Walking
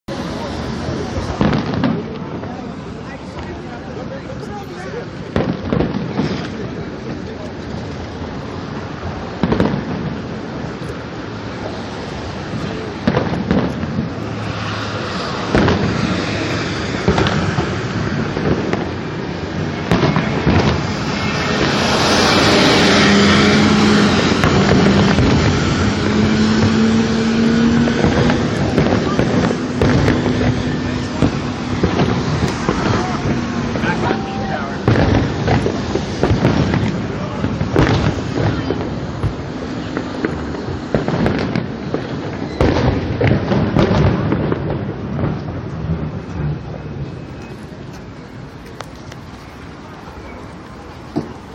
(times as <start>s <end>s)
47.4s 51.5s